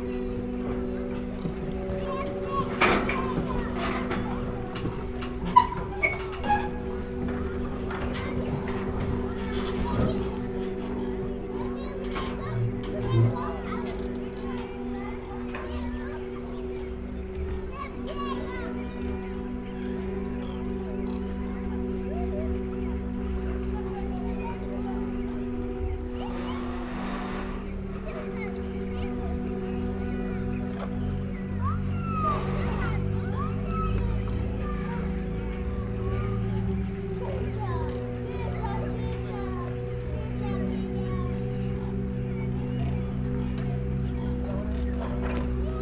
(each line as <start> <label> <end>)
0.0 sound performance for 16 instruments on pedal boats 45.8